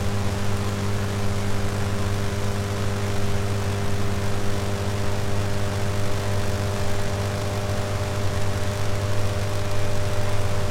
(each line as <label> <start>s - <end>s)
Electricity in the rain 0.0s - 10.7s
Rain on the power station units 0.1s - 10.7s